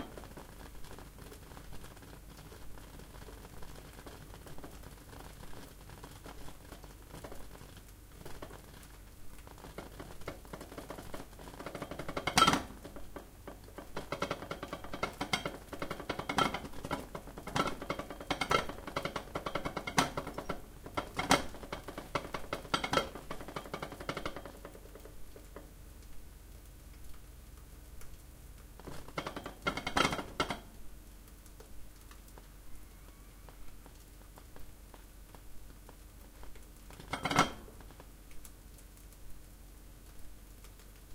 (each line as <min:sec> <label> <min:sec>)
0:00.0 ceramic Japanese rice pot cooking 0:41.1
0:09.6 clattering 0:25.7
0:28.8 clattering 0:30.7
0:37.0 clattering 0:37.9